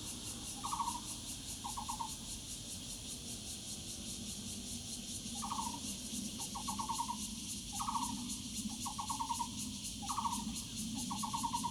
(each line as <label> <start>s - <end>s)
cicadas 0.0s - 11.7s